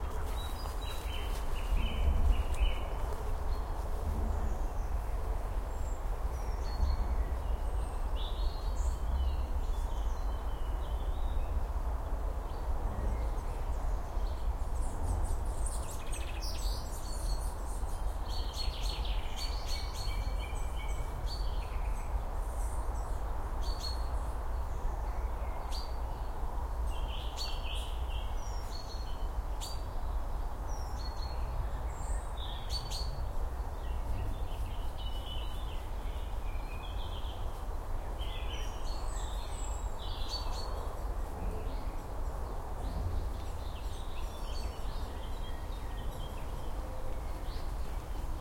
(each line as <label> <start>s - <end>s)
Bird song & chatter 0.0s - 11.7s
Bird song & chatter 12.4s - 48.4s